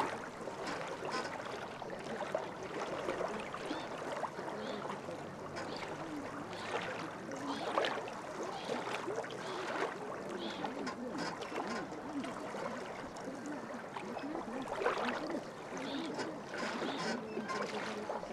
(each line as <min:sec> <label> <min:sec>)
0:03.2 birds fighting for place on abandoned pontoon bridge 0:18.3